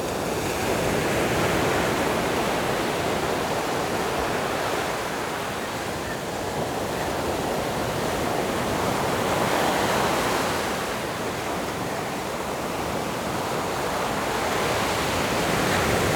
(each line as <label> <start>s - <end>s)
waves 0.0s - 16.1s